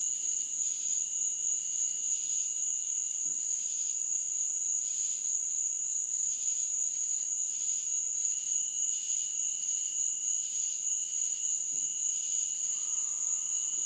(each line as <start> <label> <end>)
0.0 Cicada Insects 13.8
0.0 crickets 13.8
11.7 frogs 13.8